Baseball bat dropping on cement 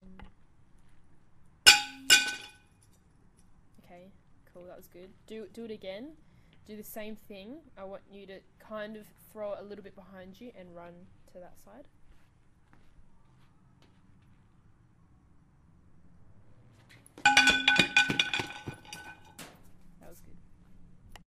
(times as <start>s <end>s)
1.7s 2.6s, 17.2s 19.6s